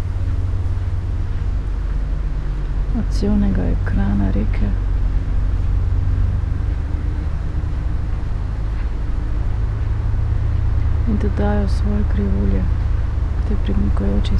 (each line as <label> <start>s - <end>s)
river ship 0.0s - 14.3s
streets and river traffic 0.0s - 14.3s
wind through willow tree 0.0s - 14.3s
spoken words 3.0s - 4.8s
spoken words 11.1s - 12.7s